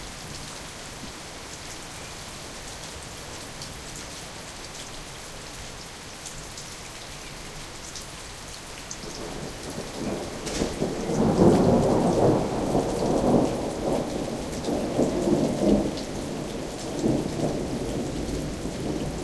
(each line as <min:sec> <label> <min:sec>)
0:00.0 rain 0:19.2
0:09.3 thunder 0:19.2